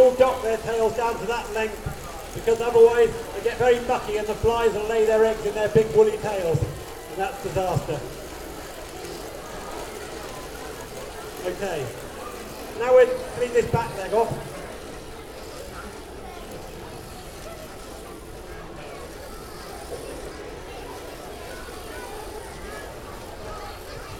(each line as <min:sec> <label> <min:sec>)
0:00.0 buzzing clippers 0:18.3